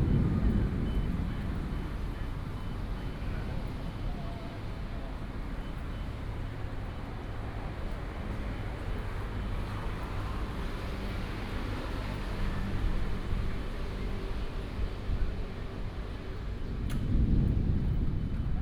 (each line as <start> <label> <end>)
0.0 thunder 3.6
0.0 Traffic noise 18.6
0.0 walking in the Street 18.6